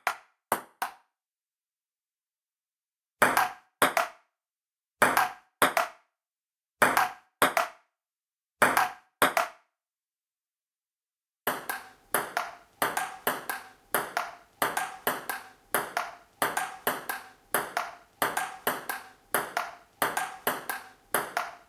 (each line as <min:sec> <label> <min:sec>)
0:00.0 ping pong 0:01.1
0:03.2 ping pong 0:04.3
0:05.0 ping pong 0:06.1
0:06.8 ping pong 0:07.9
0:08.6 ping pong 0:09.7
0:11.5 ping pong 0:21.6